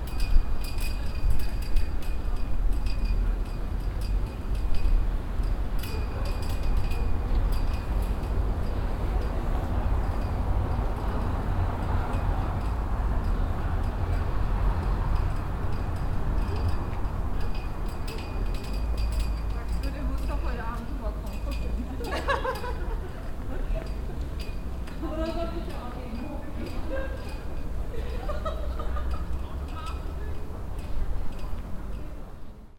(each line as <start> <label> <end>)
0.0 fahnen flattern im wind 32.7